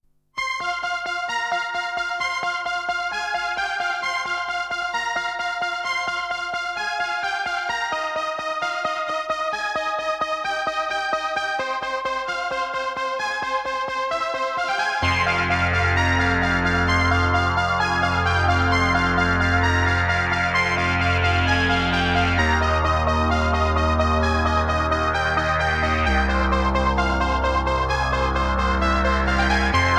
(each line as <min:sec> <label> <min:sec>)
0:13.6 synth 0:29.9